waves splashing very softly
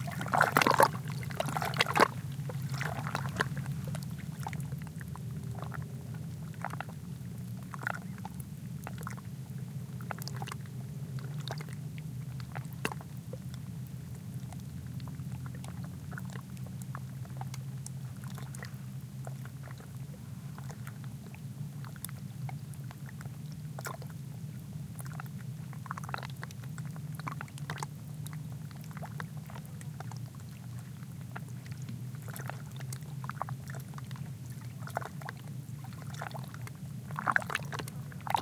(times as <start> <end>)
0.0 5.8, 31.7 38.4